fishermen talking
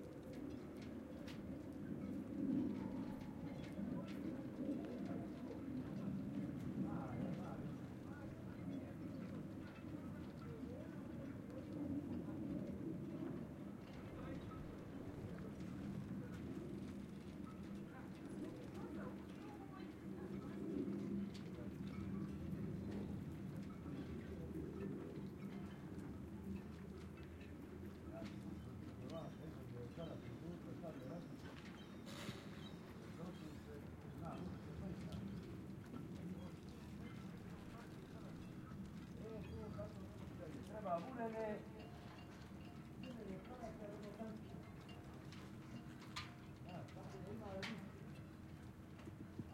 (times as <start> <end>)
28.0 45.0